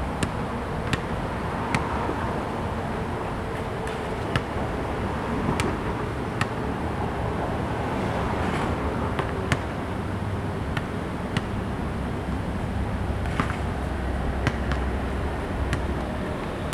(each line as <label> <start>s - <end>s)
Traffic Sound 0.0s - 16.7s